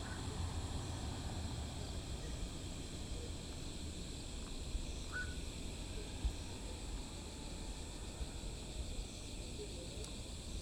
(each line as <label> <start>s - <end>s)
Frogs 1.8s - 9.6s